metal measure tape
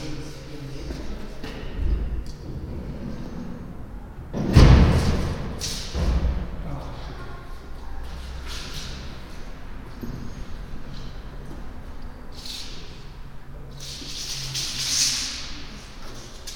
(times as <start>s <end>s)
13.8s 15.6s